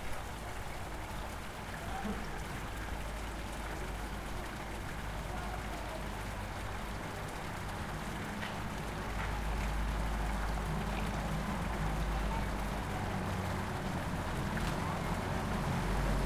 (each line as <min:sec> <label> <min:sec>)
0:00.0 fountain 0:16.2
0:08.4 cars 0:16.2